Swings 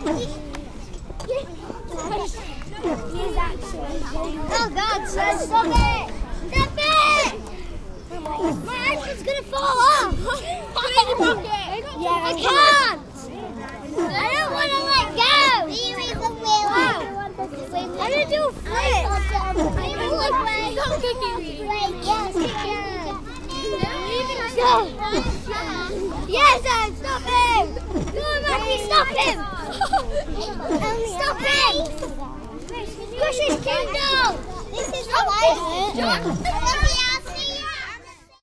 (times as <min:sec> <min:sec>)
0:18.0 0:37.8